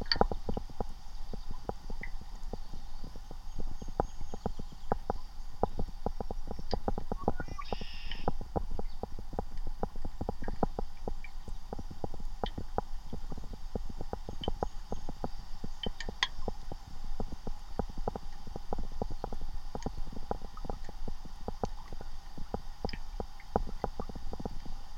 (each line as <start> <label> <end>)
0.0 occasional sounds of water movement caused by the can 24.9
0.0 pebble on the creek-bed being rolled about by the current 24.9
7.1 red-winged blackbirds 9.0